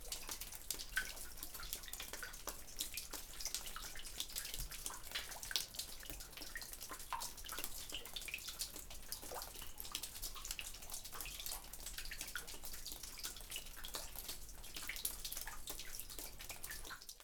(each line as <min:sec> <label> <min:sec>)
0:00.0 water trickling through the rocks 0:17.2